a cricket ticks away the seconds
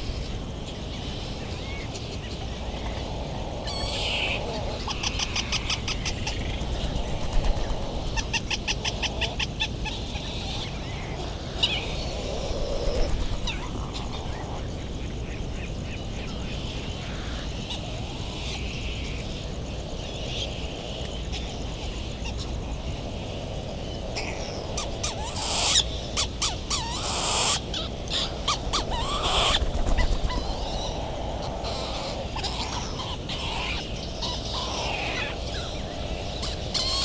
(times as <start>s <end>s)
23.9s 37.0s